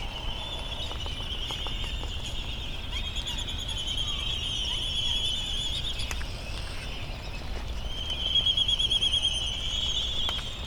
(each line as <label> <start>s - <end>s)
slight breeze 0.0s - 8.3s